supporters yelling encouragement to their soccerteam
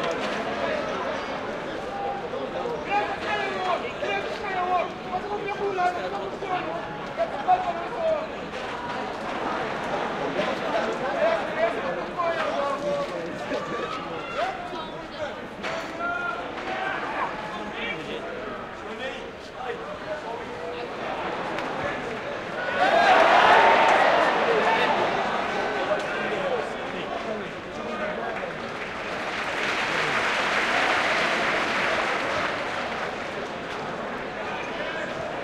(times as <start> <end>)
22.6 26.4